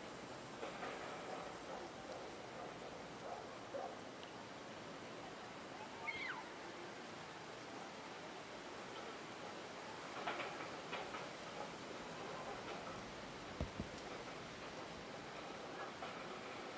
crickets 0.0 - 4.1

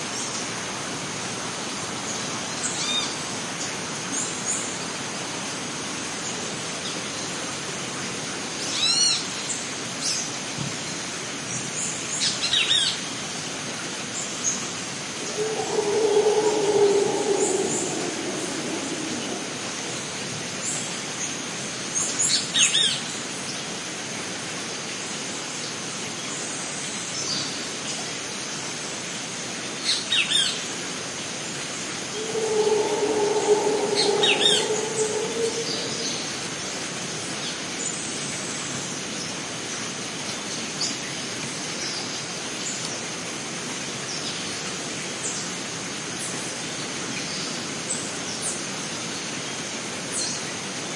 Howler Monkey 15.2 - 20.3
insects 15.2 - 20.3
birds 15.2 - 19.9
insects 32.0 - 36.8
Howler Monkey 32.0 - 36.9
birds 32.1 - 36.4

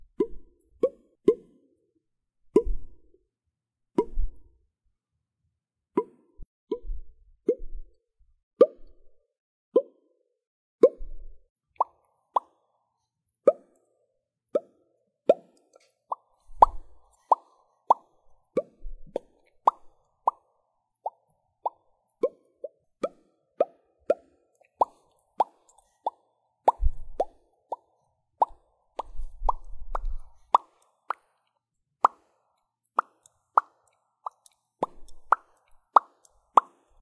popping noises made by mouth 0.1 - 1.5
popping noises made by mouth 11.8 - 12.5
popping noises made by mouth 14.6 - 31.4
popping noises made by mouth 32.0 - 32.2
popping noises made by mouth 33.0 - 37.0

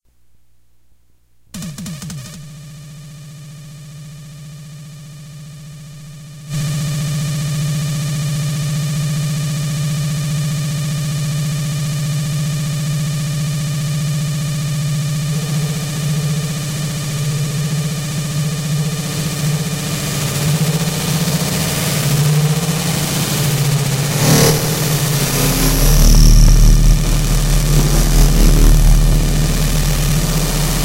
glitch 23.5 - 30.8

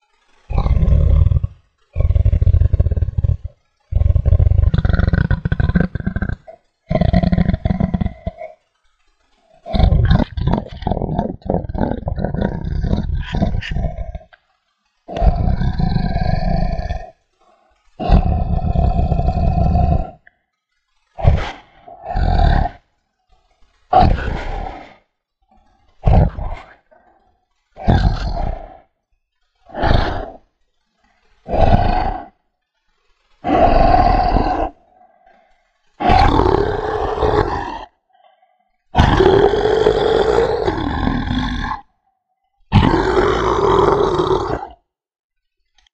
Dragon 0.2 - 8.7
Dragon 9.3 - 14.4
Dragon 15.1 - 20.3
Dragon 21.1 - 29.0
Dragon 29.6 - 32.4
Dragon 33.2 - 42.0
Dragon 42.7 - 44.8

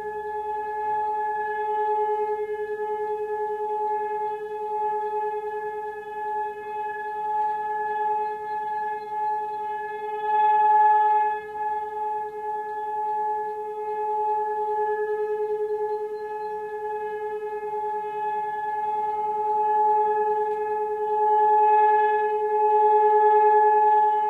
All-clear signal 0.0 - 24.2

